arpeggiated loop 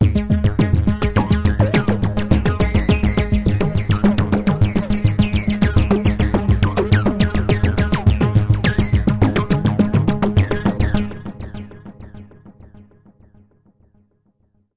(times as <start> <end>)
0.0 11.1